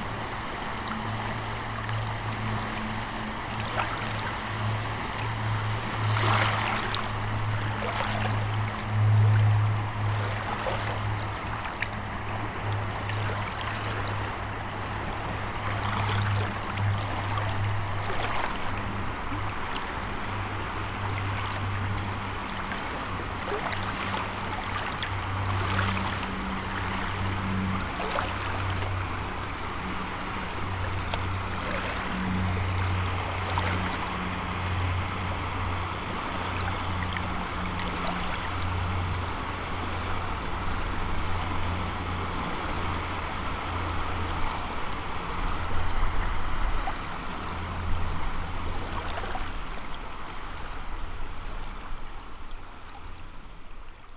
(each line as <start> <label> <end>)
0.0 subtle waves 54.1